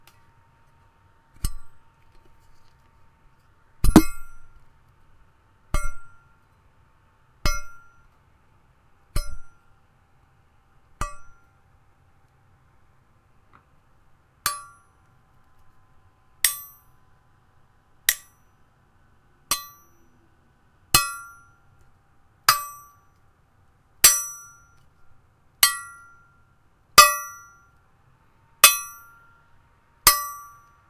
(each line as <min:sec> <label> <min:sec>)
0:03.8 Hitting a metal trowel 0:04.5
0:05.8 Hitting a metal trowel 0:06.1
0:07.5 Hitting a metal trowel 0:07.8
0:09.2 Hitting a metal trowel 0:09.6
0:11.0 Hitting a metal trowel 0:11.4
0:18.1 Hitting a metal trowel 0:18.4
0:27.0 Hitting a metal trowel 0:27.6
0:30.1 Hitting a metal trowel 0:30.6